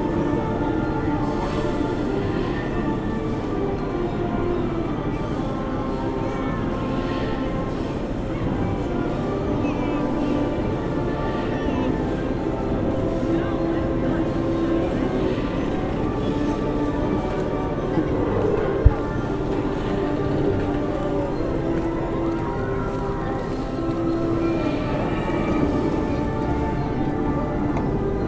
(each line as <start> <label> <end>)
0.0 music from a Merry Go Round 28.2